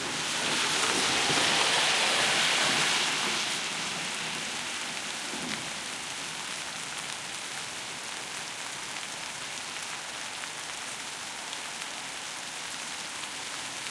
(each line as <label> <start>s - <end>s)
splash 0.0s - 4.8s
rain 0.0s - 13.9s
auto cars pass 0.0s - 4.8s